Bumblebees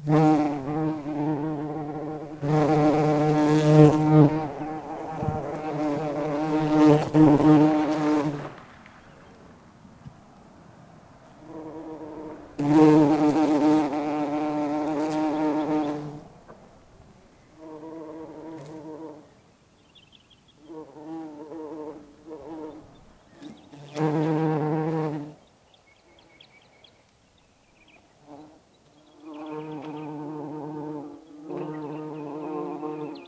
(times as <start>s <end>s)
0.0s 8.5s, 11.4s 16.3s, 20.6s 25.4s, 28.2s 33.2s